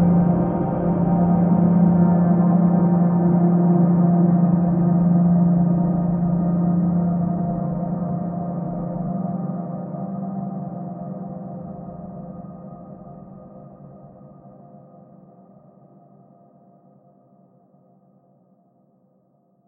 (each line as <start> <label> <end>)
0.0 slowly evolving dreamy ambient drone pad 16.6